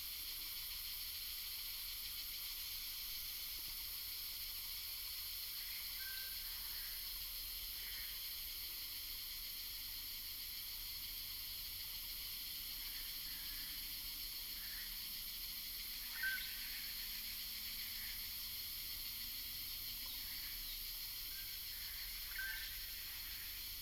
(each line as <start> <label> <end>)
0.0 Cicadas cry 23.8
16.1 Bird calls 16.8
21.9 Bird calls 23.3